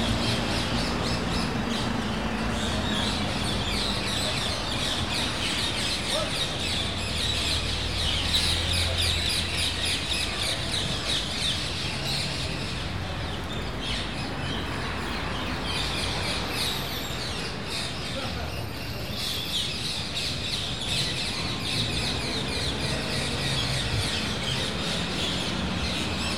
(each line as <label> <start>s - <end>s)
People Talk 2.2s - 14.3s
People Talk 17.7s - 20.2s